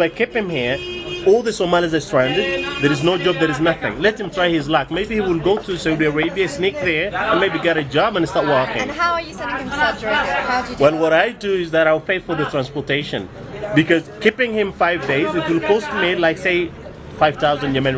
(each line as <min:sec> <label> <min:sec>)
0:00.0 Taxi driver in Sana'a talk 0:09.0